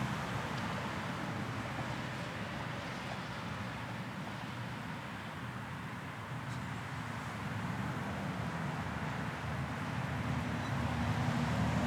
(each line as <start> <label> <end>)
9.8 traffic 11.8